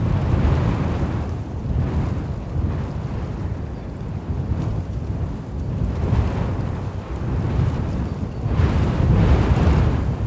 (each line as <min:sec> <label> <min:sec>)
0:00.0 Wind blowing in a field 0:10.2